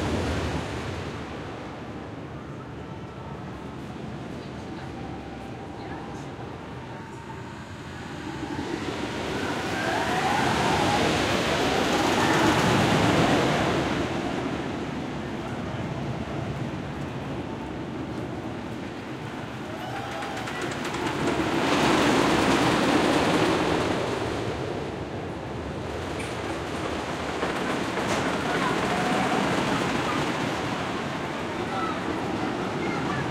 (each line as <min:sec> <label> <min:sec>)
0:03.6 wooden roller coaster 0:33.3